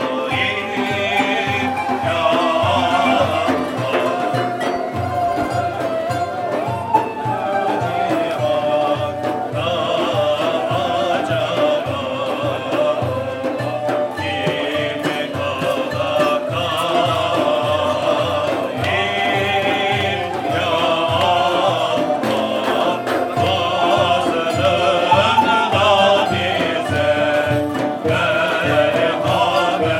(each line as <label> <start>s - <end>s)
Sufi music concert 0.0s - 29.9s